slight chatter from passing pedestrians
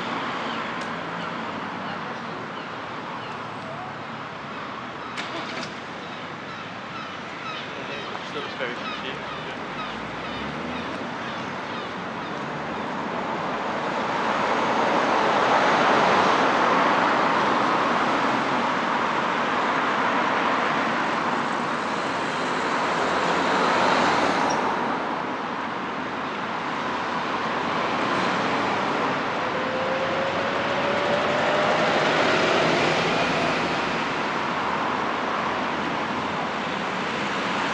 0:01.2 0:04.1

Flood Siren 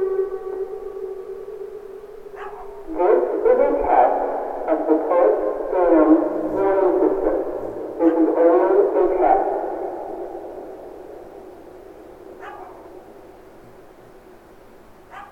0:00.0 0:01.8

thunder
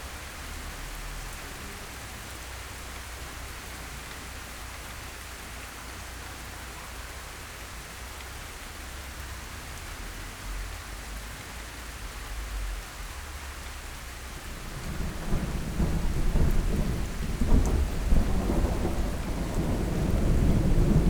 0:14.6 0:21.0

